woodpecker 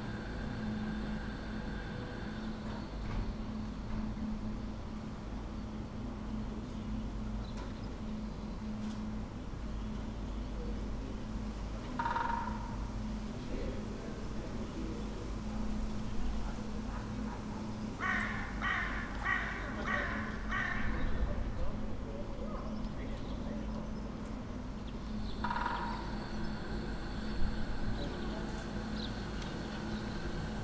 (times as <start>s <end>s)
25.3s 27.3s